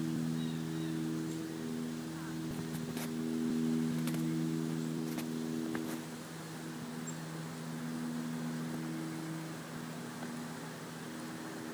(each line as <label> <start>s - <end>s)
Birds 0.0s - 11.7s
Plane 0.0s - 11.7s
Voices 0.5s - 3.2s